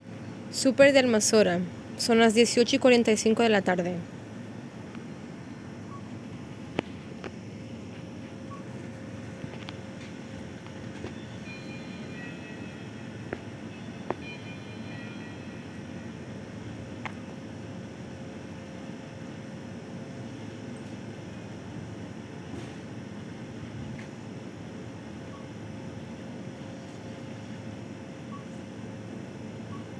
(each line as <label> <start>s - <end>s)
voices 0.0s - 7.4s